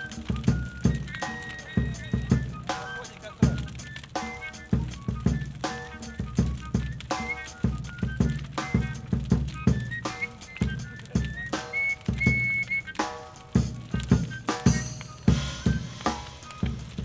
big fire 0:00.0 - 0:17.0
live drums 0:00.0 - 0:17.0

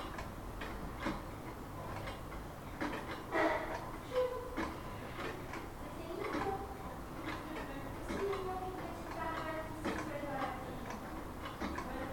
tic tac horlogers 0:02.0 - 0:12.1

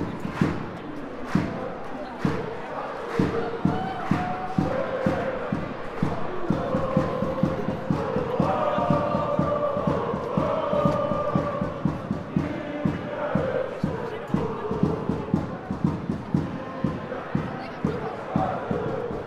Supporters chanting 0:00.0 - 0:19.2
loud roar comes from the home teams supporters 0:01.0 - 0:15.8

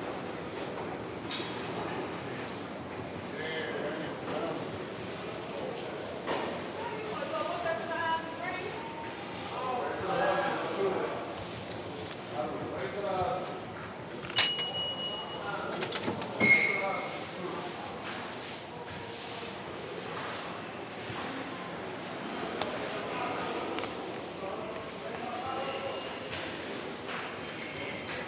workers clean the subway floors and stairs 0:00.0 - 0:28.2

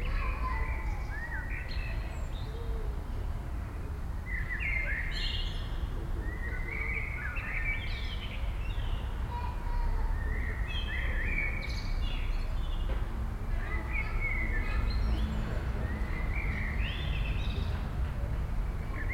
people talking 0:00.0 - 0:01.2
children at play 0:00.0 - 0:03.9
Many blackbirds 0:00.0 - 0:19.1
Omnipresent traffic hum 0:00.0 - 0:19.1
children at play 0:08.0 - 0:19.1
people talking 0:13.5 - 0:15.9

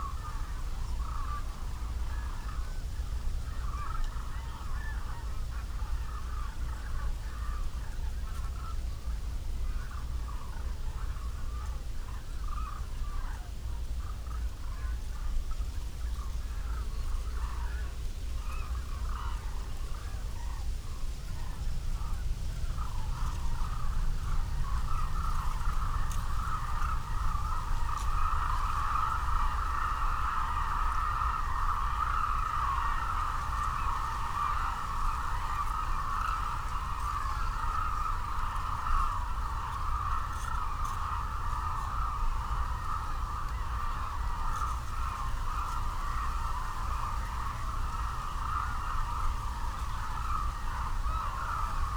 Black hooded cranes 0:21.3 - 0:51.9

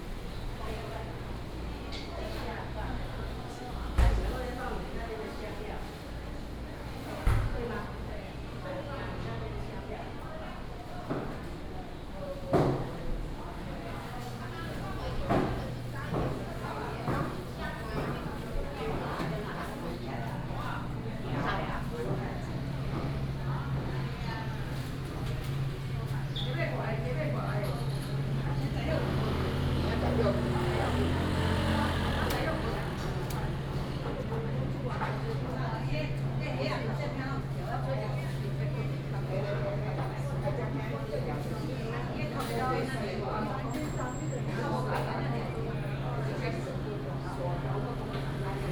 walking in the market 0:00.0 - 0:48.7
traffic sound 0:27.7 - 0:35.1

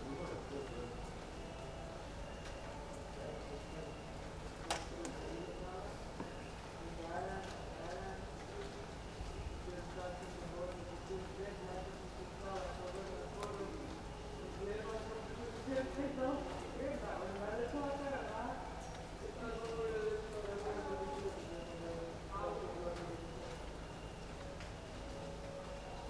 leftovers of rain 0:00.0 - 0:26.0

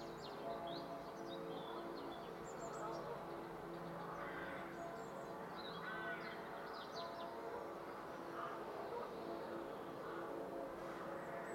blackbirds 0:00.0 - 0:11.5
distant church bells ringing 0:00.0 - 0:11.5

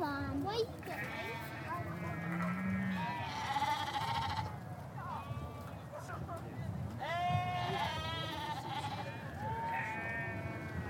wind 0:00.0 - 0:10.8
shetland sheep 0:00.8 - 0:10.8
rosette ribbons won by different sheep fluttering in the breeze 0:03.9 - 0:10.8

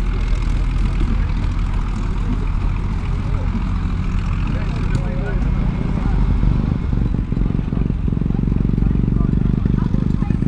engines modern and old 0:00.0 - 0:10.4
road building 0:00.0 - 0:10.4
voices 0:00.0 - 0:10.4

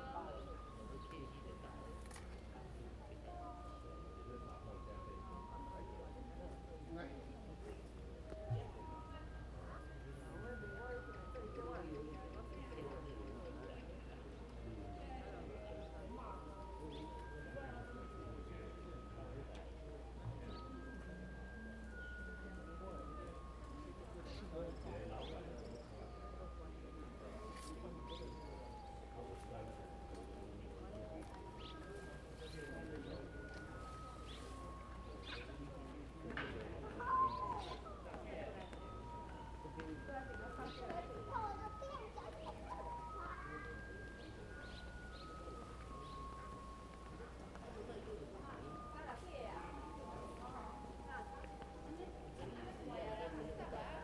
Many people gathered 0:00.0 - 0:54.0

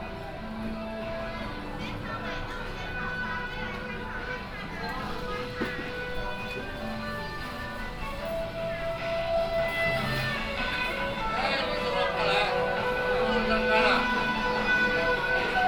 Tourists 0:00.0 - 0:15.6
traffic sound 0:00.0 - 0:15.6

